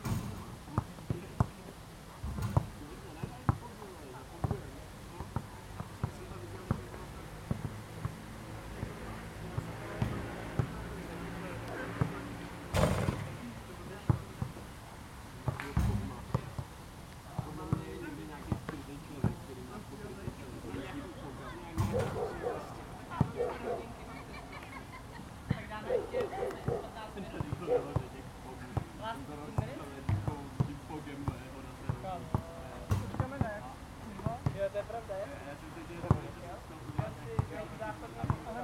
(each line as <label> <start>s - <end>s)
People playing basketball 0.0s - 14.7s
People playing basketball 15.4s - 34.9s
chatting 22.0s - 28.0s
People playing basketball 36.0s - 38.6s